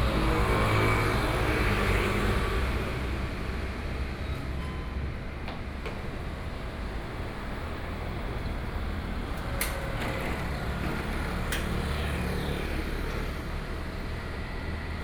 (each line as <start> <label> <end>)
0.0 Traffic noise 15.0